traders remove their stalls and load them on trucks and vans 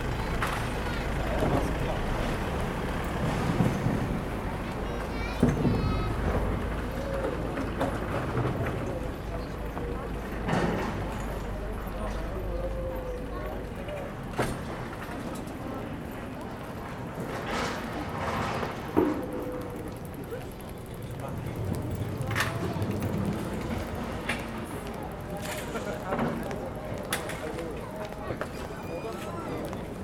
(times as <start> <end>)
0.0 12.5, 14.0 16.1, 16.9 19.5